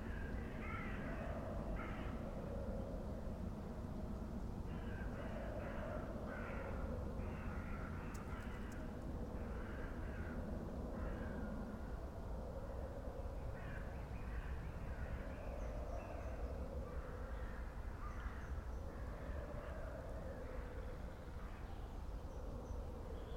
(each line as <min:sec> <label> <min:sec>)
0:00.0 crows 0:02.4
0:04.7 crows 0:12.0
0:13.5 crows 0:21.8